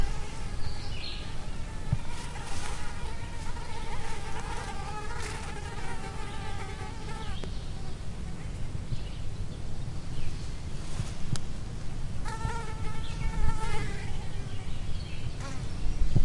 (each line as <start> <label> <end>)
0.0 flies near the ground buzzing and bumping into each other 8.0
12.2 flies near the ground buzzing and bumping into each other 16.2